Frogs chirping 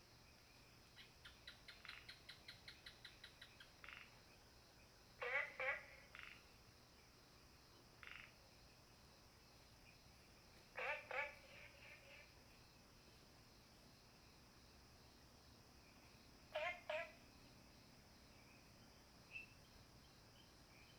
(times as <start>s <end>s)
0.9s 6.6s, 8.0s 8.4s, 15.8s 20.9s